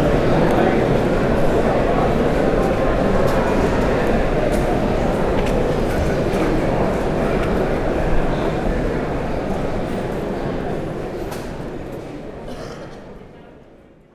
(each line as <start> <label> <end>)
0.0 crowd 14.1